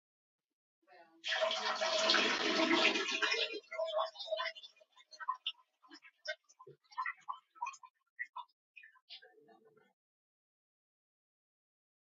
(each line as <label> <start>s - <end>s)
flush 1.2s - 7.9s